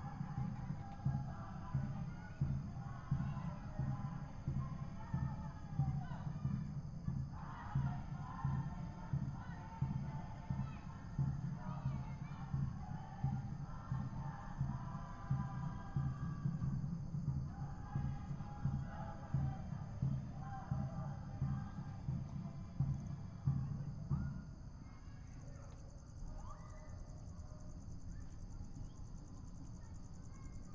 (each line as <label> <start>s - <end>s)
People singing 0.0s - 23.8s